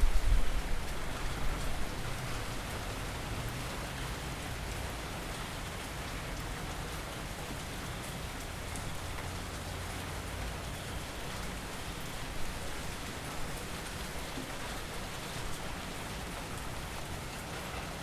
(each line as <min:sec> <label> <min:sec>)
0:00.0 Rain 0:18.0